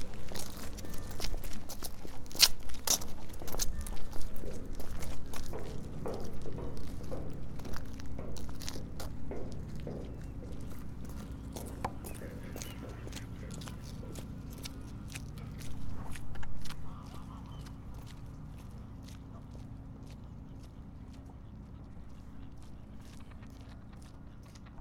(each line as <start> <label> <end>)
0.0 Car and passenger ferry 24.8